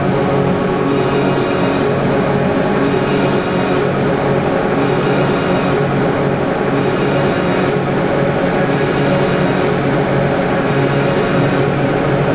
drone 0.0 - 12.3

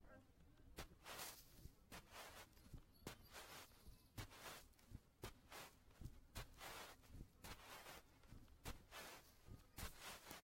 Walking on beach sand 0.7 - 10.4

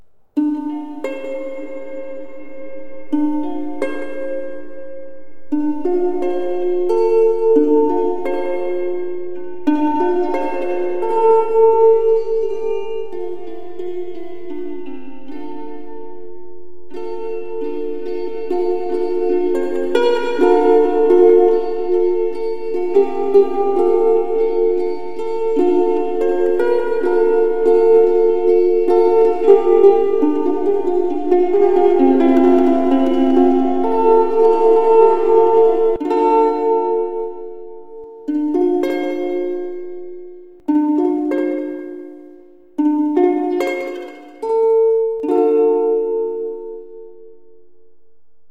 sad slow song played on a ukulele 0.4 - 47.6

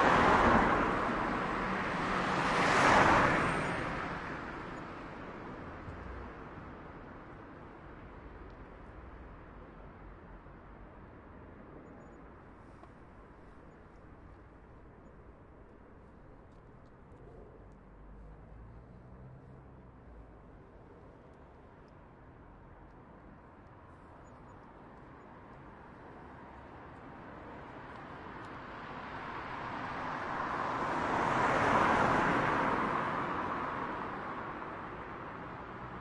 car bys 0.0 - 4.9
bus 0.0 - 36.0
car bys 16.6 - 20.6
car bys 27.8 - 36.0

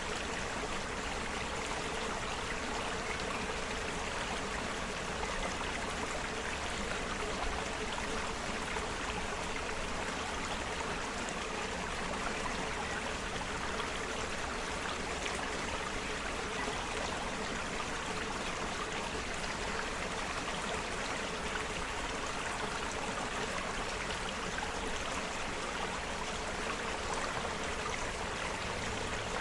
small stream 0.0 - 29.4

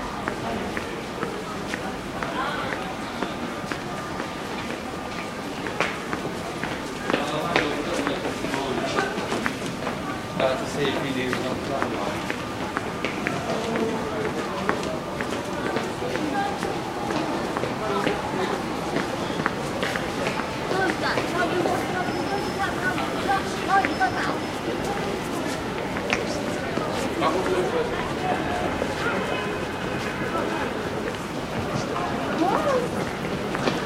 people talking 0.0 - 33.8
announcement 15.0 - 31.1

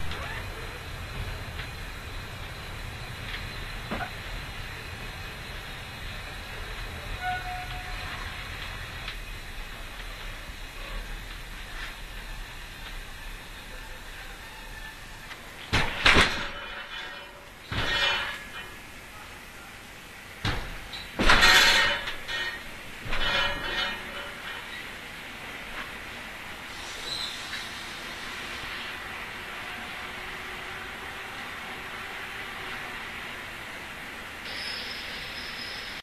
connecting two trains 0.0 - 36.0

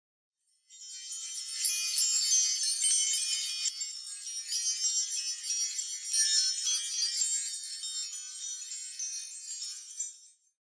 mystical enclosed bell 0.7 - 10.4

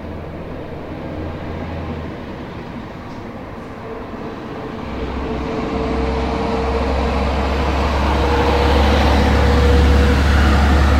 passing cars 0.0 - 10.9

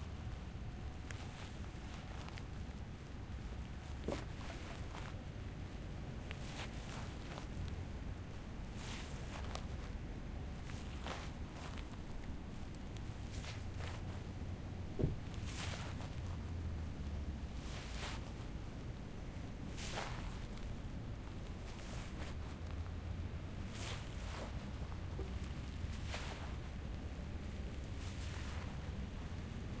walking on grass 0.9 - 2.7
walking on grass 3.3 - 5.3
walking on grass 6.3 - 7.7
walking on grass 8.6 - 14.3
walking on grass 15.0 - 16.4
walking on grass 17.0 - 18.5
walking on grass 19.7 - 20.7
walking on grass 21.5 - 22.8
walking on grass 23.6 - 29.8

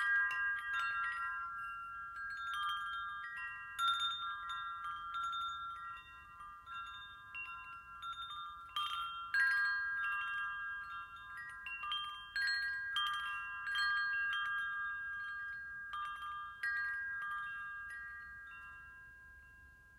Wind chimes chiming 0.0 - 19.9

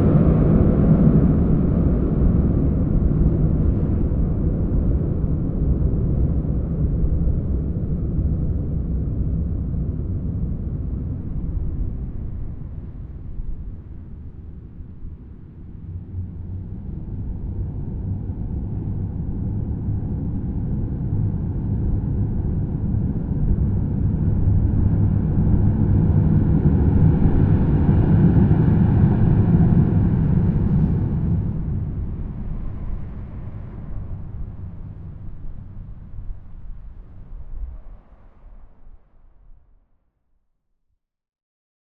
drone 0.0 - 38.9

